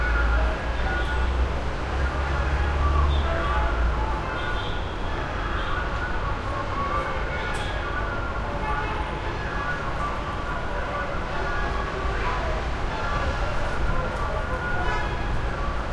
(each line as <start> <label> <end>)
0.0 street vendor PA 15.9
0.0 traffic heavy 15.9